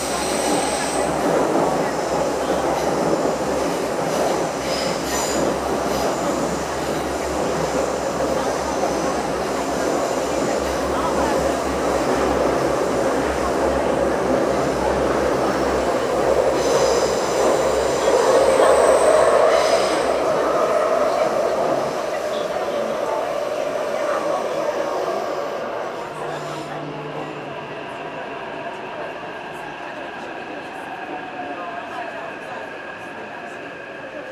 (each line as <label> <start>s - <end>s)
Riding the MRT 0.0s - 34.3s